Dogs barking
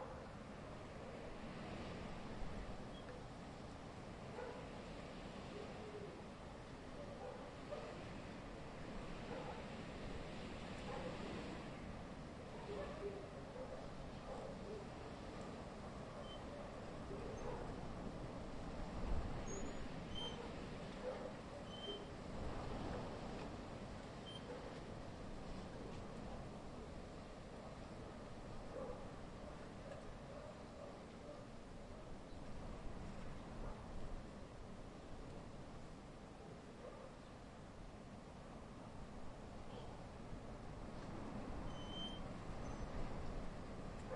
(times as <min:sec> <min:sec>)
0:07.1 0:07.9, 0:12.7 0:14.8, 0:16.5 0:17.8, 0:20.4 0:21.4